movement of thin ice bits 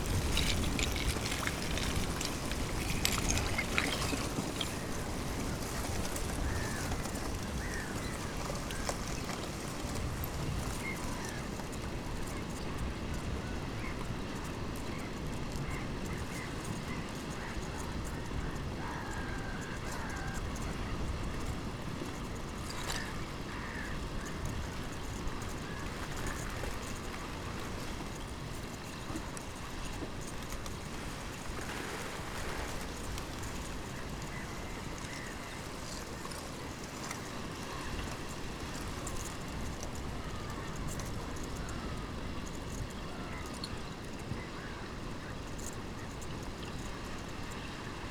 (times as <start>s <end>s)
0.0s 10.8s